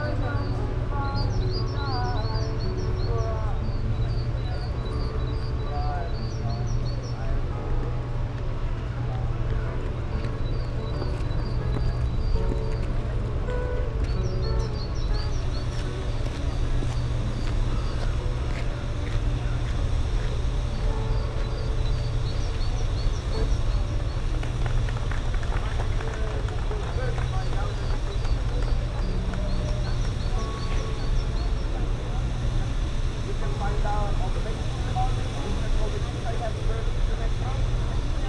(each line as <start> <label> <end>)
0.0 byciclists 38.2
0.0 noise of a nearby construction site 38.2
0.0 singer 38.2